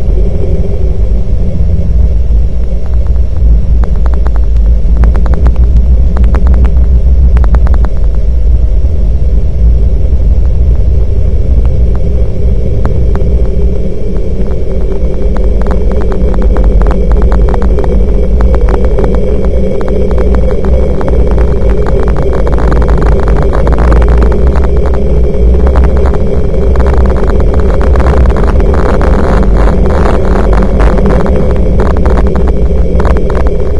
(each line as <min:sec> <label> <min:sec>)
0:10.6 processed vocal recording 0:33.7